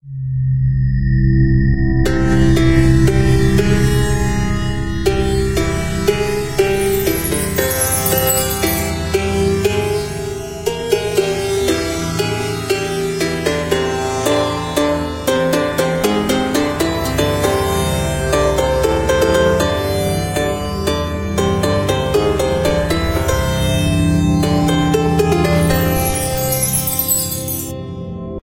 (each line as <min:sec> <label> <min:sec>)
0:02.4 Indian sitar 0:27.8